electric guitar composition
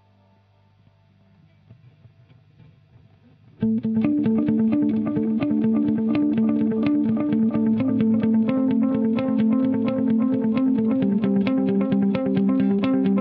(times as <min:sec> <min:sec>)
0:03.6 0:13.2